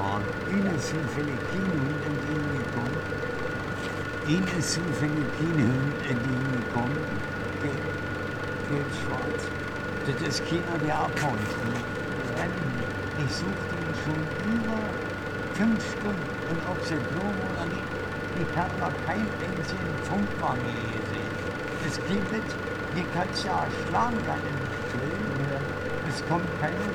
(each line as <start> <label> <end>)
0.0 man looking for his dog 26.9
0.0 sewer works site 26.9